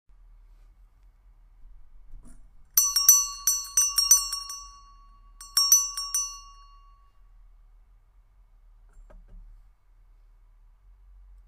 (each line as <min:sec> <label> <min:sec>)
0:02.8 Bell, ringing, ring 0:07.2